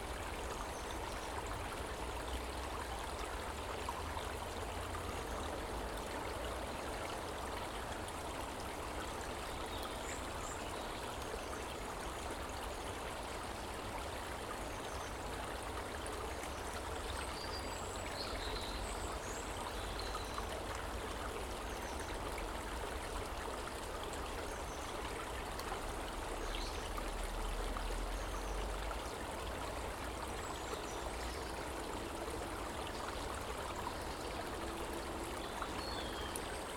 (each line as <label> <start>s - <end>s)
Water 0.0s - 36.7s